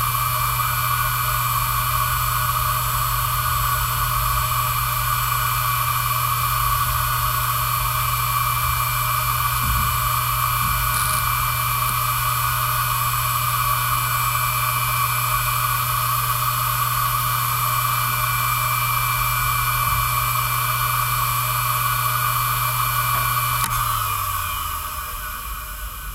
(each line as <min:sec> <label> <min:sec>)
0:00.0 heads rumbling when data is read and written 0:26.1
0:00.0 old hard disk drive 0:26.1
0:00.0 starting of the spinning noise 0:26.1